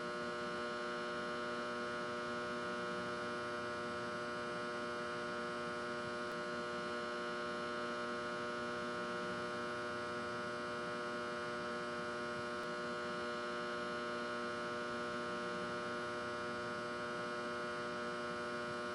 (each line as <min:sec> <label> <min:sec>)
0:00.0 electrical hum 0:18.9